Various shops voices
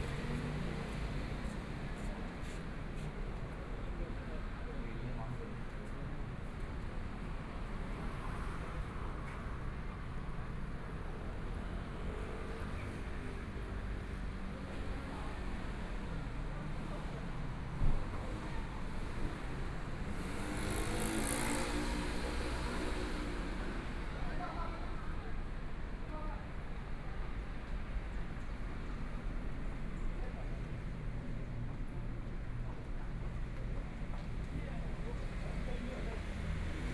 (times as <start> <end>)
10.2 36.9